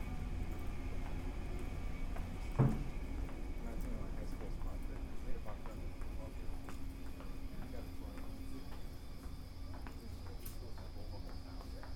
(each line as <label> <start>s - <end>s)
out footsteps 0.4s - 11.9s
a door closes behind us 2.5s - 2.9s